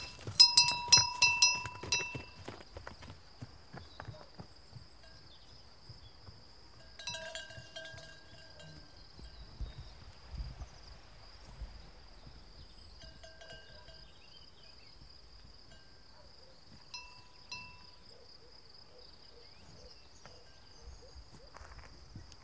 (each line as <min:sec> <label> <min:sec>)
0:00.0 cow's bell 0:02.6
0:05.0 cow's bell 0:05.4
0:06.7 cow's bell 0:09.4
0:13.0 cow's bell 0:14.2
0:15.7 cow's bell 0:16.1
0:16.9 cow's bell 0:18.0